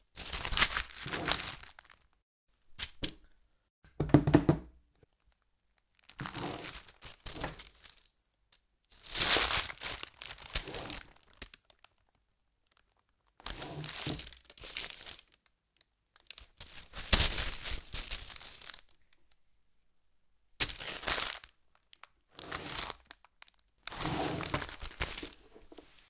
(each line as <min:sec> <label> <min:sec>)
0:09.0 baking paper folding 0:11.8
0:22.3 baking paper folding 0:26.0